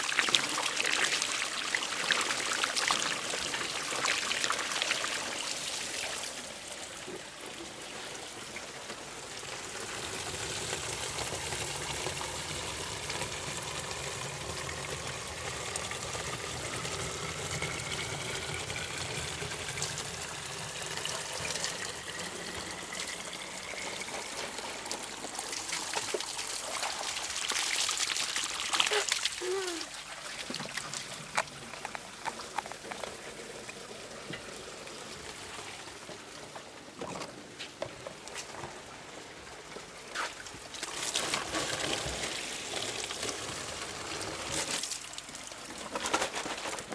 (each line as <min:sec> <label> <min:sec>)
0:00.0 fill several plastic bottles 0:46.9
0:00.0 spring of superficial origin that runs through the Fountain 0:46.9